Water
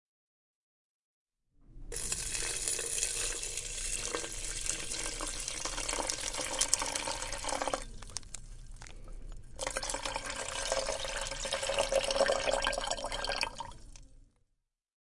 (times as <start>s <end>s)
1.9s 8.2s